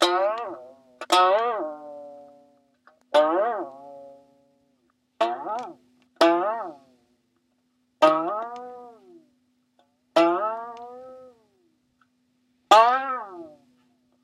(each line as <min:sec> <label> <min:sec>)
0:00.0 broken string from a Turkish banjo 0:04.5
0:05.2 broken string from a Turkish banjo 0:07.0
0:08.0 broken string from a Turkish banjo 0:11.5
0:12.7 broken string from a Turkish banjo 0:14.0